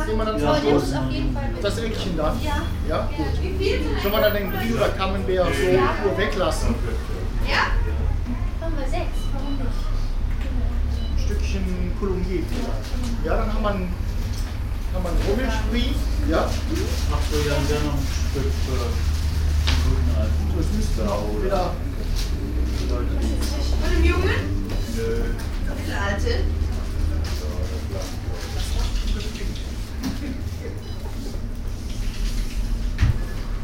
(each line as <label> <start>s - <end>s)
people 0.0s - 31.7s